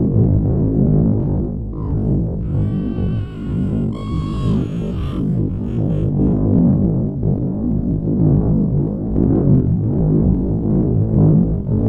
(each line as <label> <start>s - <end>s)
creature 1.8s - 6.4s